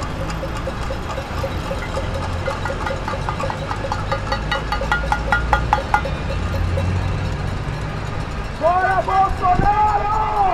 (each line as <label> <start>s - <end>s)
Banging pans 0.0s - 7.0s